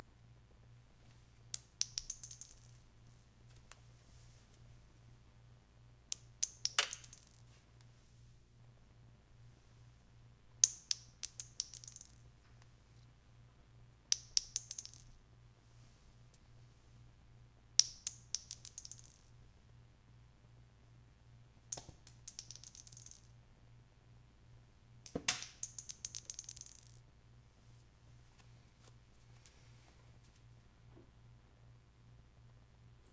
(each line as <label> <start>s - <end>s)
shells hitting the ground 1.6s - 3.2s
shells hitting the ground 6.1s - 7.5s
shells hitting the ground 10.6s - 12.2s
shells hitting the ground 14.1s - 15.1s
shells hitting the ground 17.8s - 19.3s
shells hitting the ground 21.7s - 23.3s
shells hitting the ground 25.1s - 27.0s